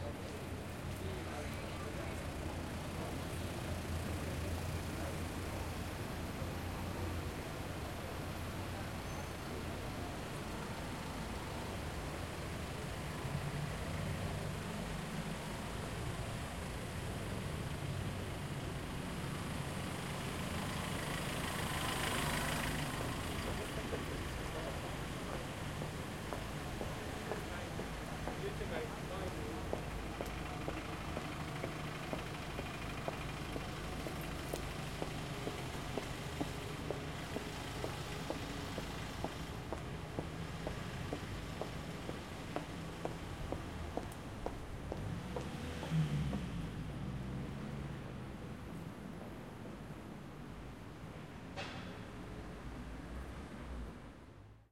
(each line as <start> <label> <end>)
0.0 City Traffic 54.7
29.6 Footsteps 46.6